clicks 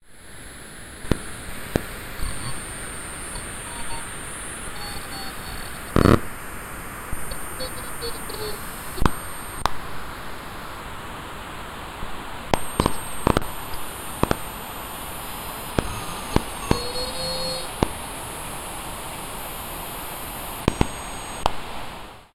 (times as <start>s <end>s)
12.5s 14.5s, 15.7s 18.0s, 20.6s 21.5s